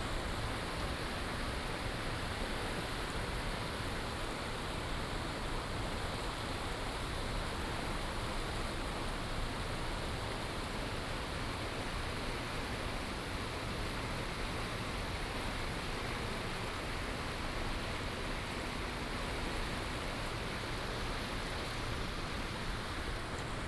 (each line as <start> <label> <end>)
0.0 river 23.6